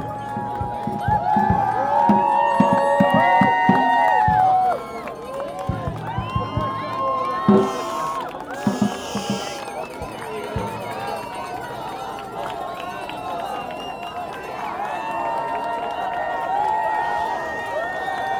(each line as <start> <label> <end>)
0.0 Crowd reacts to arrests 18.3
0.0 cheered and clapped 18.3
5.8 crowd chants 10.4